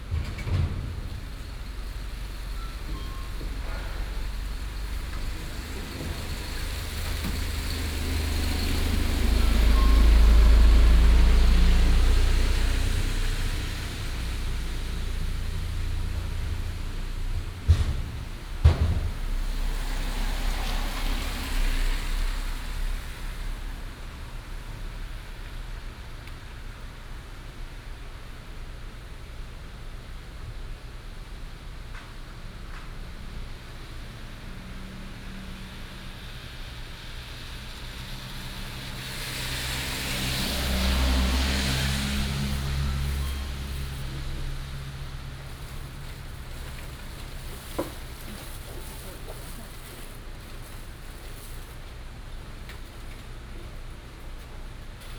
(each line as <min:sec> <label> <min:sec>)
0:00.0 Construction noise 0:23.0
0:00.0 Rainy day 0:28.5
0:00.0 Traffic sound 0:29.9
0:30.9 Traffic sound 0:55.1
0:31.9 Rainy day 0:55.1
0:37.4 Construction noise 0:55.1